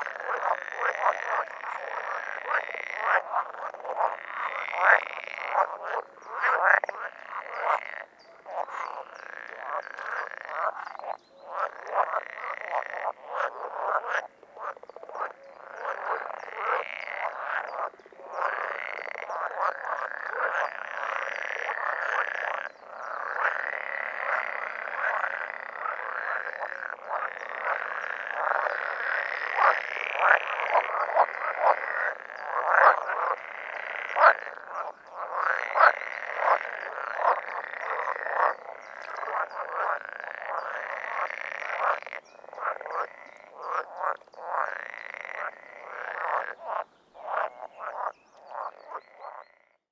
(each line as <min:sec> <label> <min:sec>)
0:00.0 frogs chorus 0:49.8